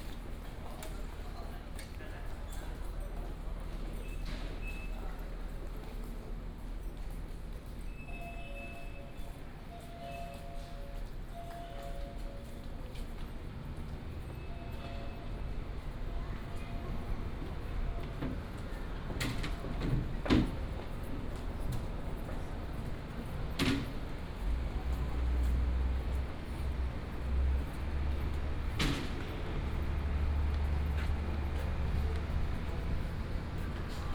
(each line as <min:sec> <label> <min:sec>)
0:23.8 Walk 0:34.1